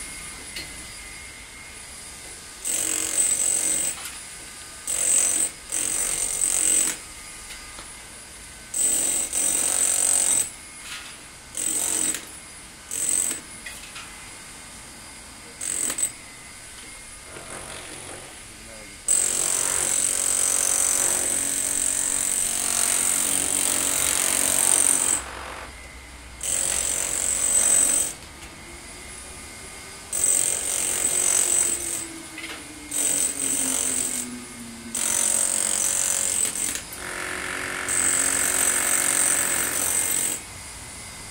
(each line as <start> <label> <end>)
4.9 Worker cutting grooves wall using puncher 7.6
11.6 Worker cutting grooves wall using puncher 12.3
15.6 Worker cutting grooves wall using puncher 16.2
16.8 Worker cutting grooves wall using puncher 18.4
19.1 Worker cutting grooves wall using puncher 25.8
26.4 Worker cutting grooves wall using puncher 28.2
30.1 Worker cutting grooves wall using puncher 40.4